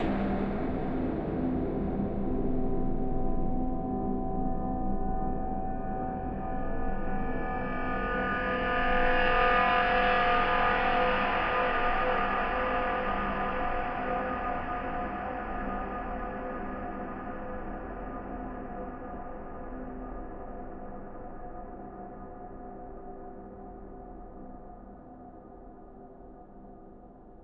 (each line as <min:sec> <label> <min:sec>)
0:00.0 deep long stab 0:03.2